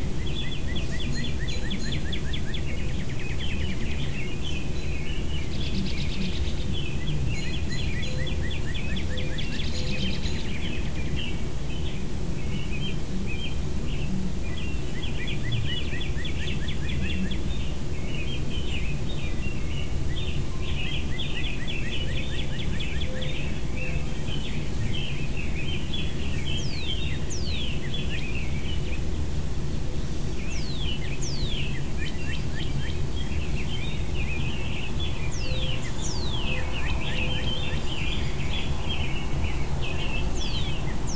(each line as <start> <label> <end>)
0.0 American robins 41.1